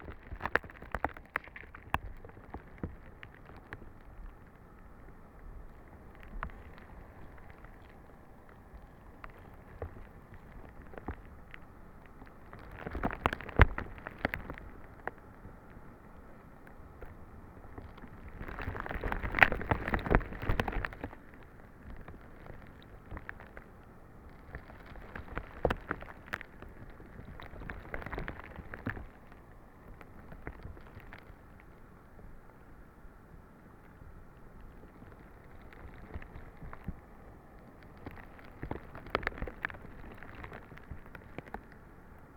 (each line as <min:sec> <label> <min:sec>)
0:00.0 broken ice on the lake 0:42.3